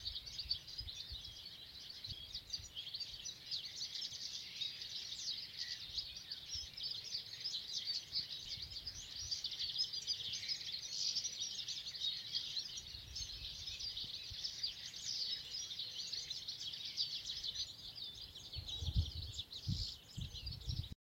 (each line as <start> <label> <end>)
0.0 Loudly sparkling sparrows 21.0